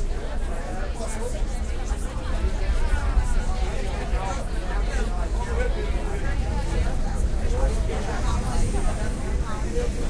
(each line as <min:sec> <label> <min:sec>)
0:00.0 big crowd of people 0:10.0
0:00.0 metro train 0:10.0